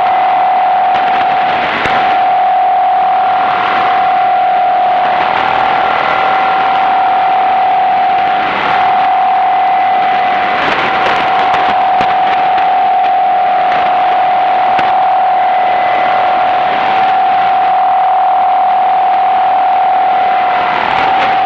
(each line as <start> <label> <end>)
0.0 static 21.4